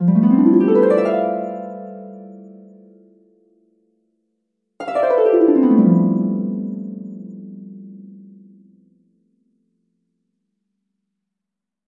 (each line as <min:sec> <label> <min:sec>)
0:00.0 harp 0:03.5
0:04.8 harp 0:09.3